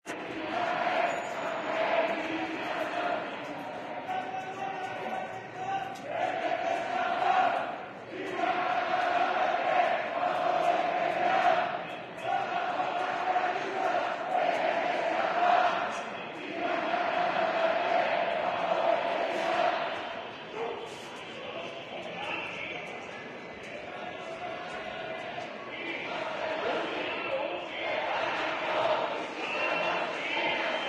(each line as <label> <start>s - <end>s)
crowd demonstrating against lockdown measures 0.0s - 30.8s